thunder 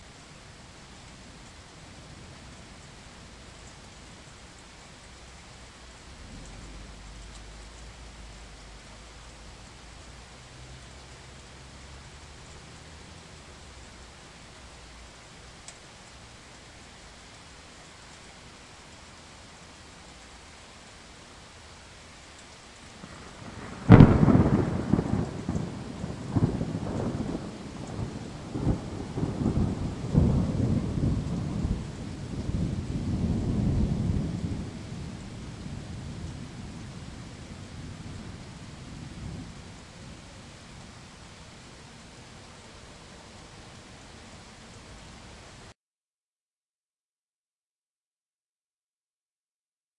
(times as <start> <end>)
6.1 8.0, 23.0 40.9